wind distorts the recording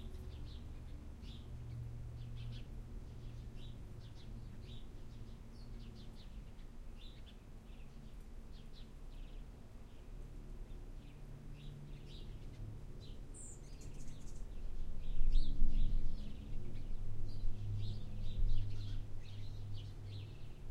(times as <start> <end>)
13.6 20.7